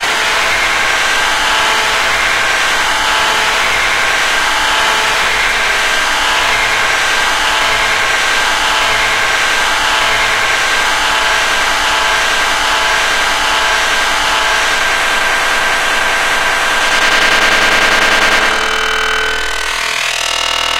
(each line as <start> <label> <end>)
0.2 Grinding Machine that increases speed 20.7